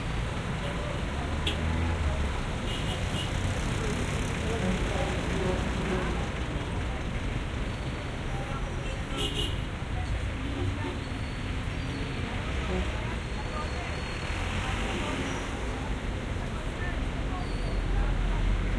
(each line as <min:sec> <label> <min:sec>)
0:00.0 buses 0:18.7
0:00.0 cars 0:18.7
0:00.0 jeepneys 0:18.7
0:00.0 motorcycles 0:18.7
0:00.0 trucks 0:18.7
0:03.6 people talking 0:07.4
0:08.2 people talking 0:18.7